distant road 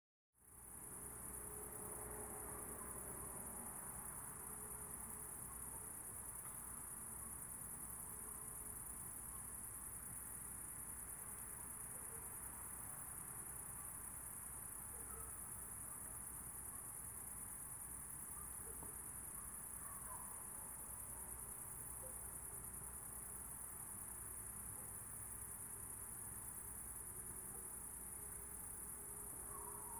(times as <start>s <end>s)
0.6s 6.8s